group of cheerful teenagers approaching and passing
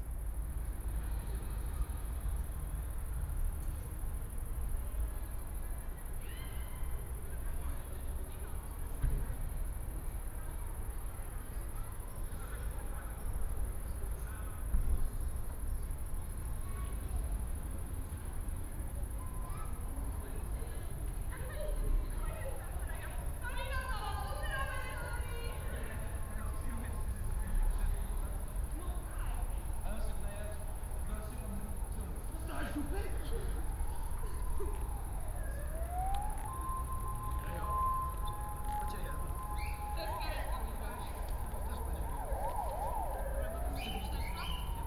0:21.0 0:44.8

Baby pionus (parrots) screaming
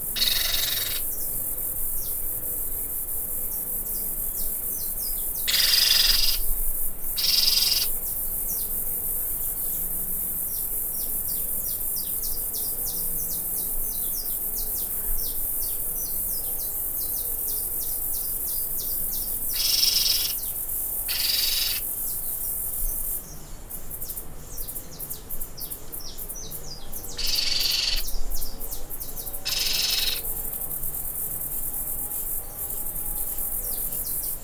0:00.2 0:01.0, 0:29.5 0:30.2

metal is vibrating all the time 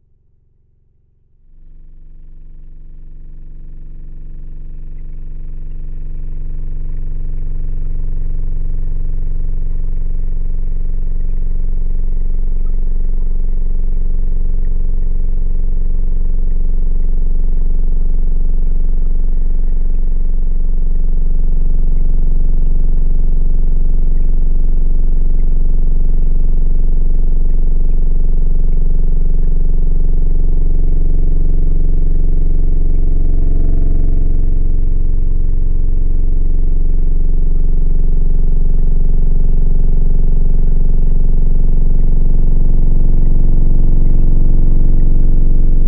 0:23.4 0:45.8

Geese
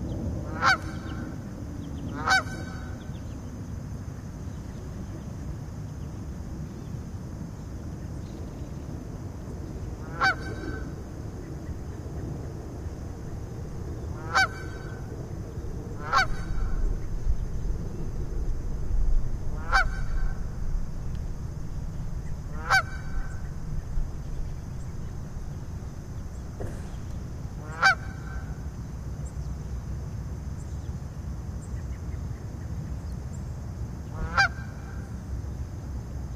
0:00.5 0:01.2, 0:02.1 0:03.0, 0:10.0 0:10.9, 0:14.2 0:15.0, 0:16.0 0:16.8, 0:19.5 0:20.4, 0:22.6 0:23.4, 0:27.6 0:28.5, 0:34.1 0:35.0

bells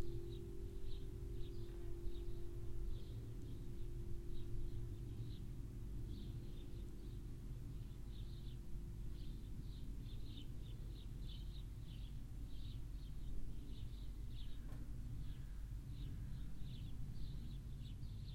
0:00.0 0:05.5

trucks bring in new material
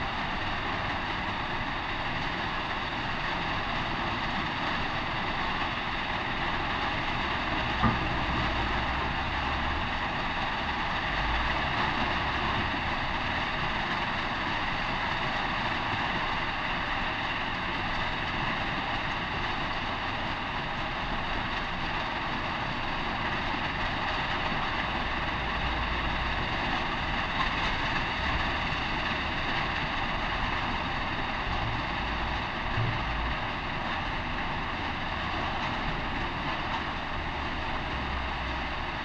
0:22.0 0:39.0

